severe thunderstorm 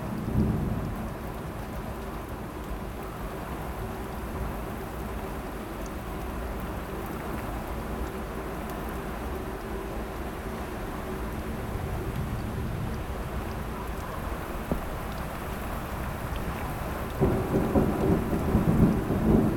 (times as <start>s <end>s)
0.0s 2.0s, 11.6s 19.5s